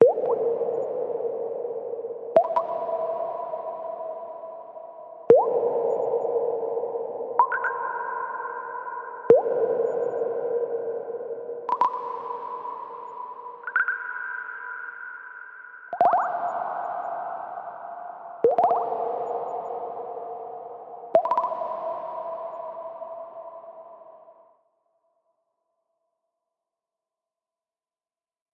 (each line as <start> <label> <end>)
0.0 Water synth drops falling in large space 24.6